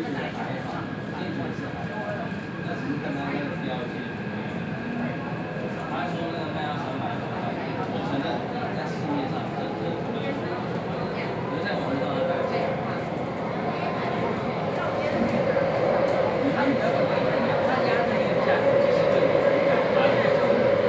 Inside the MRT train 0:00.0 - 0:20.8

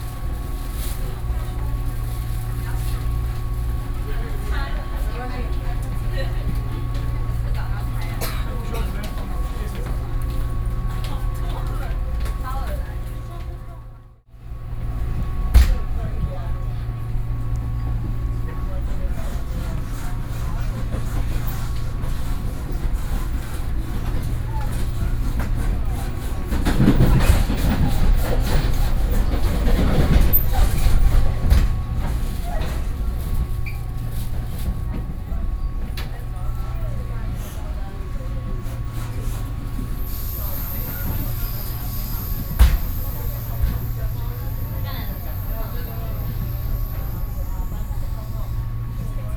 Trains 0:00.0 - 0:49.3

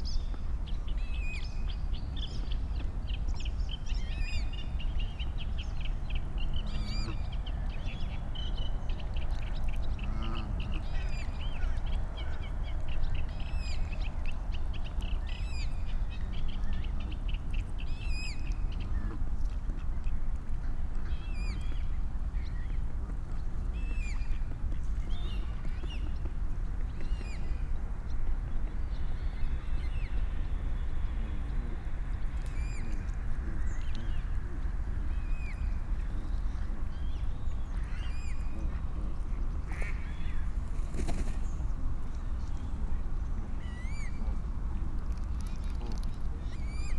Eurasian coot 0:10.0 - 0:10.9

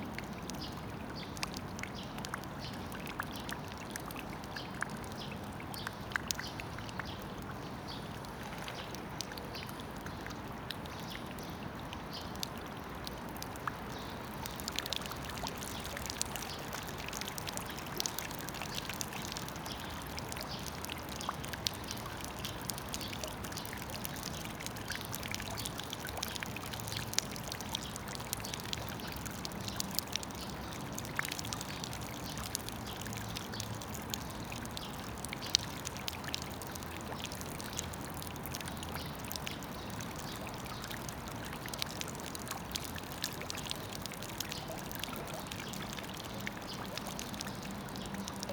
rain gutter sound 0:12.3 - 0:48.5

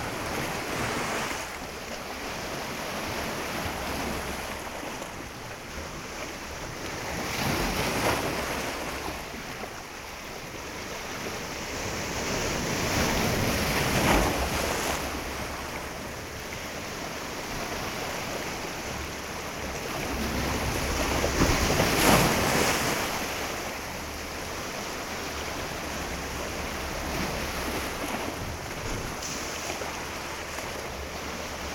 waves hitting rocks 0:00.0 - 0:31.7

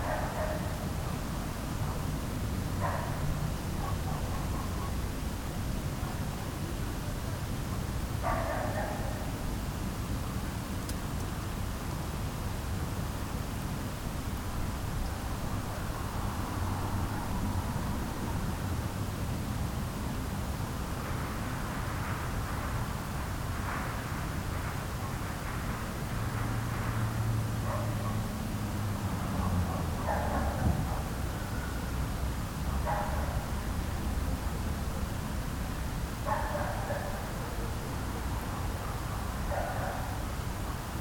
small dog is barking all night 0:00.0 - 0:02.1
small dog is barking all night 0:02.8 - 0:05.1
small dog is barking all night 0:07.7 - 0:09.4
small dog is barking all night 0:27.6 - 0:28.4
small dog is barking all night 0:29.2 - 0:31.7
small dog is barking all night 0:32.7 - 0:33.8
small dog is barking all night 0:36.2 - 0:40.8

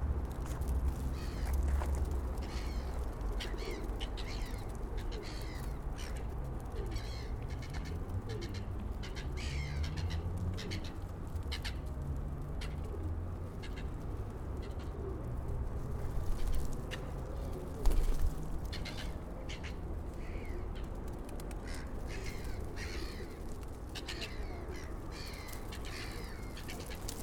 pigeons feeding 0:00.0 - 0:27.2
pigeon footfalls 0:00.2 - 0:08.0
pigeon footfalls 0:15.7 - 0:19.2

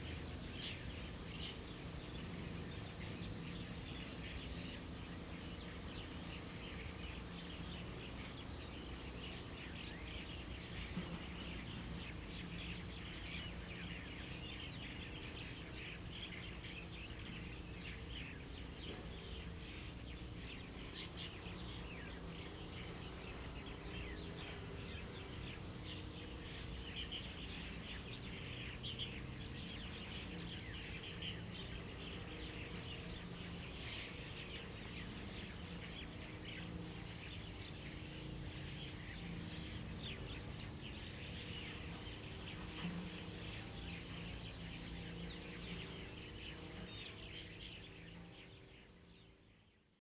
Birds singing 0:00.0 - 0:49.9

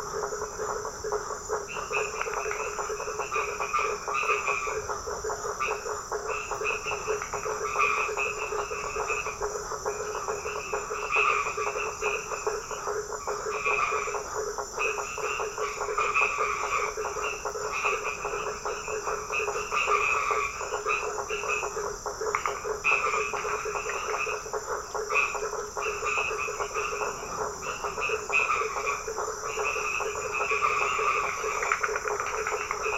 Toads singing 0:00.0 - 0:32.9

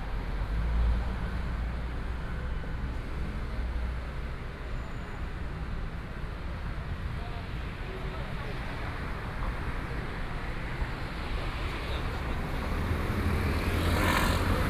Traffic Sound 0:00.0 - 0:14.6

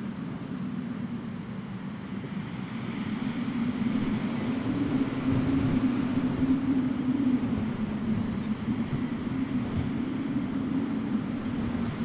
wind in electric wires 0:00.0 - 0:12.0

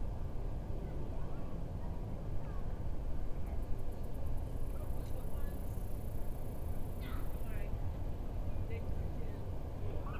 Insects 0:03.8 - 0:07.8

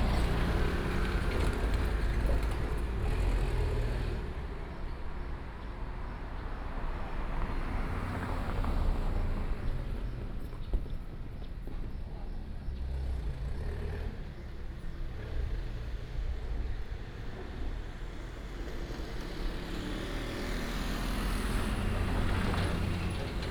Traffic Sound 0:00.0 - 0:23.5

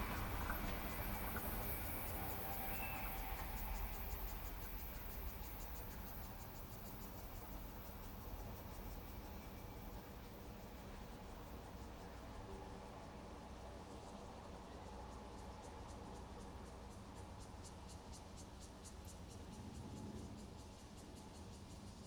The train runs through 0:00.0 - 0:22.0

